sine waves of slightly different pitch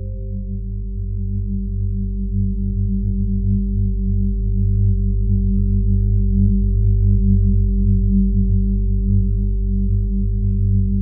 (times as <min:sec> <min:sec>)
0:00.0 0:03.7